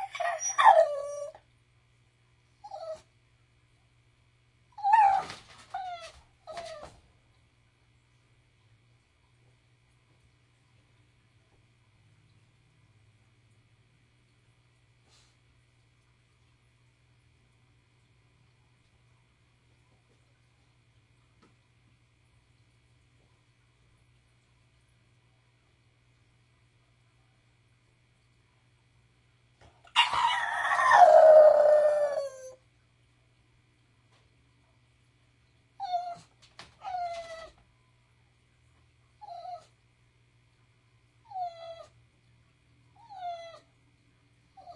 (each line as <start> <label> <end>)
0.0 English Bulldog crying, barking, and howling 1.4
0.0 toy poodle also howling in the background 1.4
4.8 toy poodle also howling in the background 7.0
4.8 English Bulldog crying, barking, and howling 6.9
29.9 English Bulldog crying, barking, and howling 32.6
29.9 toy poodle also howling in the background 32.6
41.2 toy poodle also howling in the background 42.0
43.0 toy poodle also howling in the background 43.7